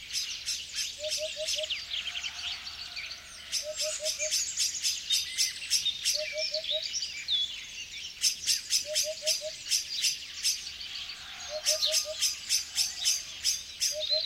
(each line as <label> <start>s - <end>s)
birds singing 0.0s - 14.2s
blackbird 0.0s - 14.2s